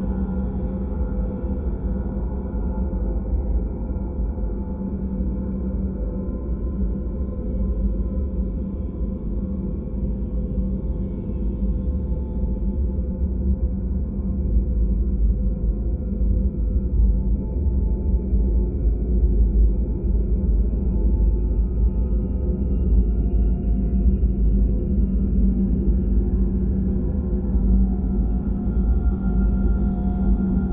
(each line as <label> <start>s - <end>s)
drone 16.2s - 30.7s